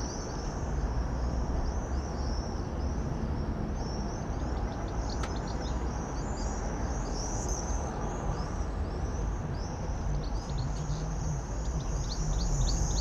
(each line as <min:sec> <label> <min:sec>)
0:00.0 canary sings from a cage 0:13.0
0:00.0 traffic 0:13.0
0:03.7 goldfinch on the roof 0:13.0
0:09.3 work in the garden with radio playing 0:13.0